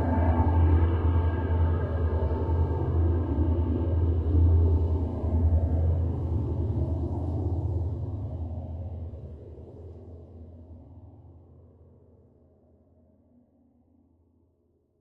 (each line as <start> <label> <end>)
0.0 Train 10.0